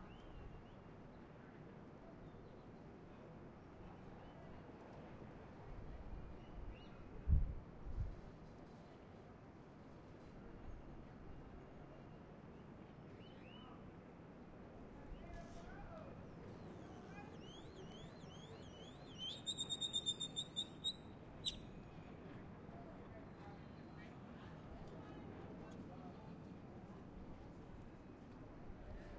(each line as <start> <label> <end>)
15.0 people talking 16.2